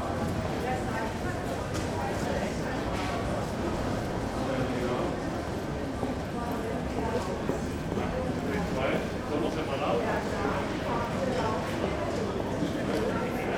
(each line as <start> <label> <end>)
0.0 busy people 13.5